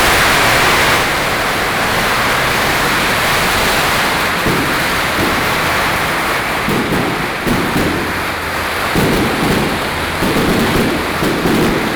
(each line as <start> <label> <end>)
0.0 Firework 11.9